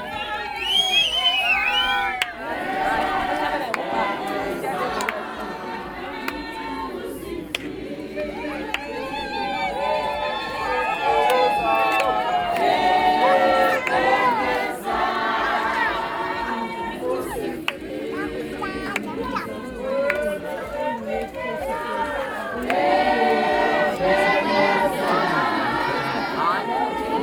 thanks-giving hymn by the whole community 0.0 - 27.2
praise poem performed by a woman poet 8.2 - 27.2

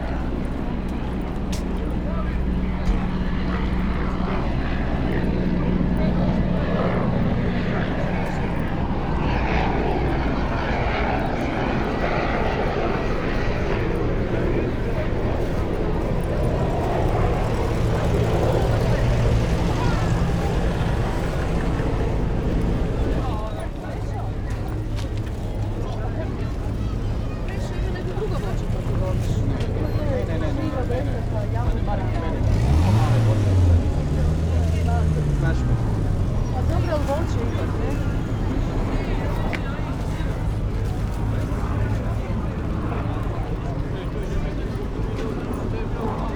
helicopters above Stari Grad - low flight 0.0 - 46.3
poeple in the street and cafes 0.0 - 46.3

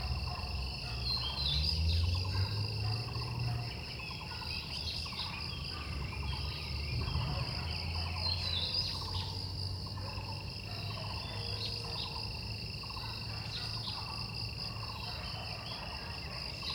insects 0.0 - 16.7

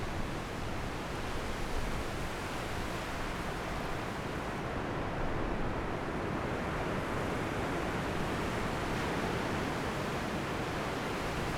waves 0.4 - 11.5

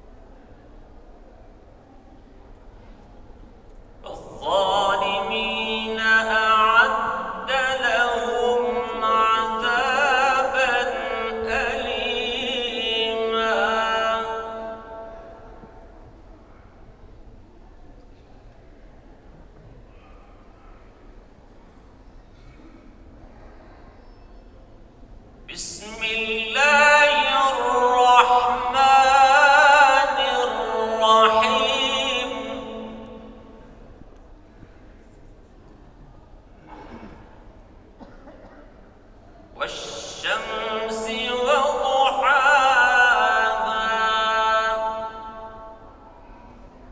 Quran recitation 4.0 - 15.8
Quran recitation 25.5 - 34.0
Quran recitation 39.6 - 46.4

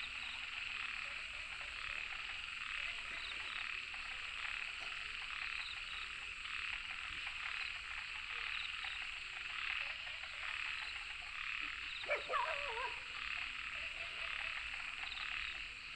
Frogs chirping 0.0 - 15.9
Dogs barking 12.0 - 13.2

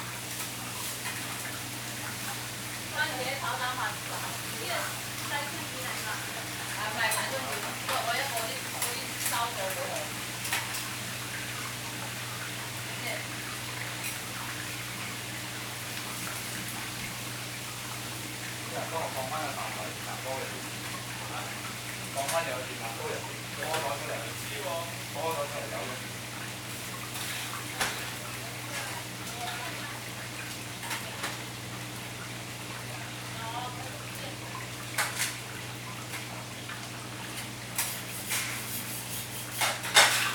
Cooking 0.0 - 40.3

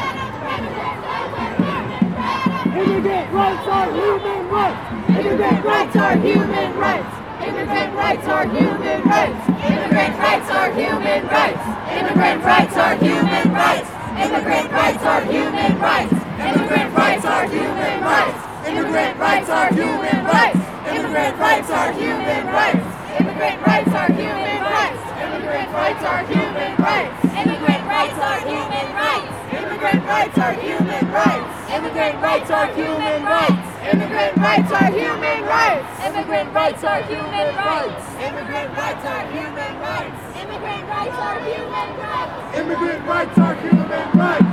Anti-Trump protests 0.0 - 44.5

